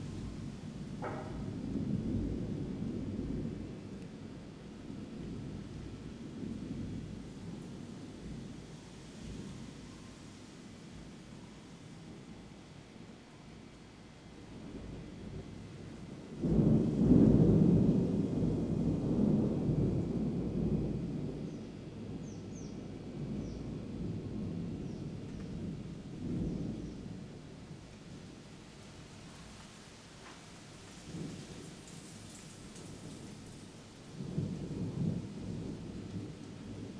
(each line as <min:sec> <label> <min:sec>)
0:00.0 summer thunderstorm 0:36.9
0:24.0 Leaves are blown around by wind gusts 0:36.9